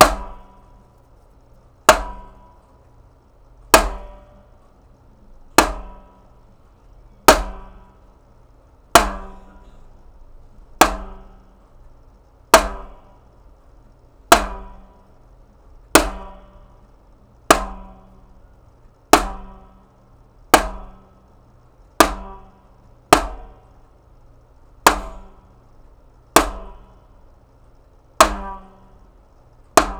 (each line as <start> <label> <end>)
7.3 Big drum hits and bangs 7.9